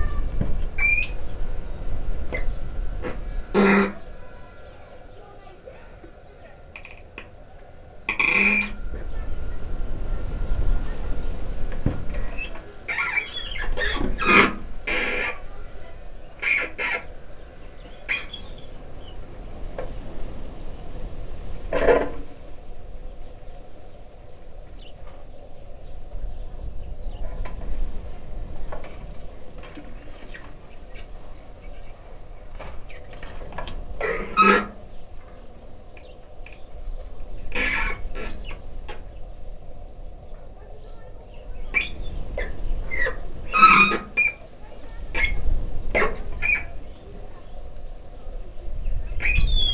0.0s branch scratching a metal sheet gutter on the roof 5.8s
0.0s kids playing 23.1s
0.3s power saw operating 5.4s
8.1s branch scratching a metal sheet gutter on the roof 9.6s
8.1s power saw operating 15.6s
11.8s branch scratching a metal sheet gutter on the roof 18.7s
25.0s kids playing 49.7s
32.6s branch scratching a metal sheet gutter on the roof 35.4s
37.5s branch scratching a metal sheet gutter on the roof 38.8s
41.7s branch scratching a metal sheet gutter on the roof 47.5s

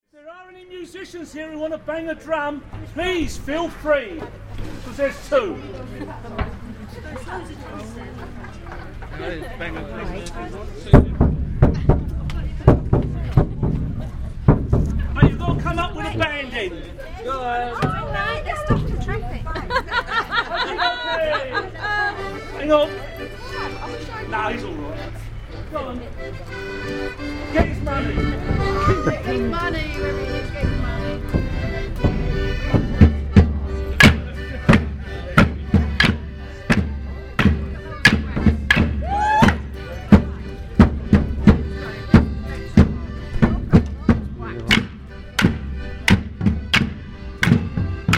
2.7s Morris Dancers 48.1s

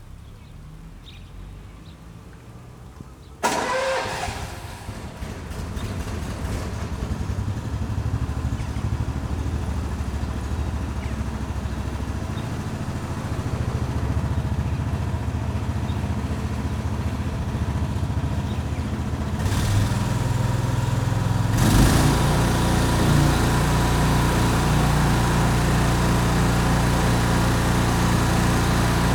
19.4s motor pump 29.1s

